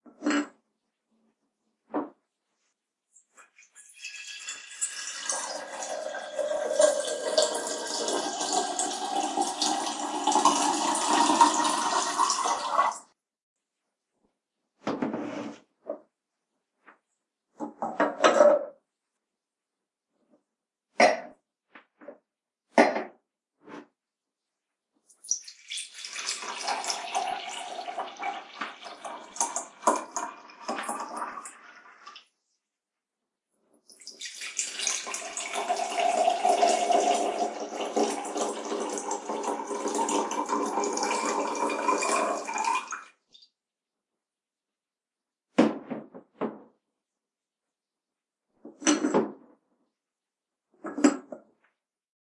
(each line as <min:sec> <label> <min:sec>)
0:03.4 Filling Hot Water into a Ceramic Can and 2 Cups 0:13.1
0:25.2 Filling Hot Water into a Ceramic Can and 2 Cups 0:32.3
0:33.9 Filling Hot Water into a Ceramic Can and 2 Cups 0:43.3